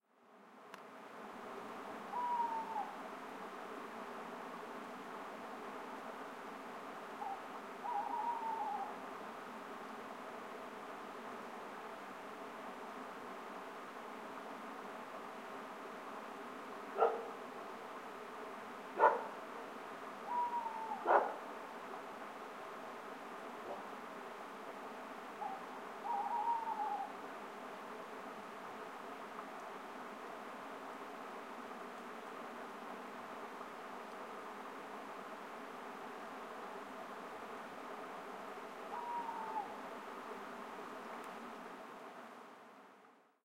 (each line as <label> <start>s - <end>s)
water running in the distance over a weir 0.1s - 43.3s
owl 2.1s - 3.0s
owl 7.2s - 9.0s
dog 17.0s - 17.4s
dog 19.0s - 19.4s
owl 20.2s - 21.4s
dog 21.0s - 21.4s
owl 25.4s - 27.2s
owl 38.9s - 39.8s